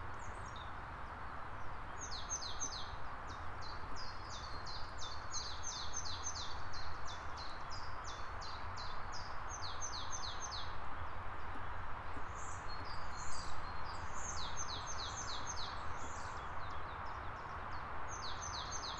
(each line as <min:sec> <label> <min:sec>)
0:00.0 birds 0:18.9